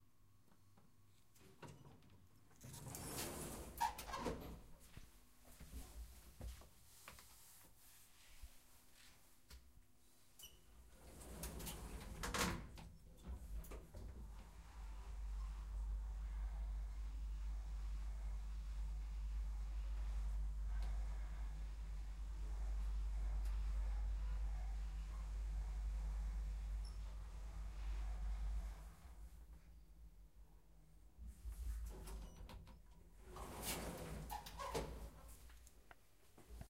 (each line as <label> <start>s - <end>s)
Lifts opening and closing doors 2.6s - 4.6s
Lifts opening and closing doors 10.9s - 16.9s
Lifts opening and closing doors 31.9s - 35.2s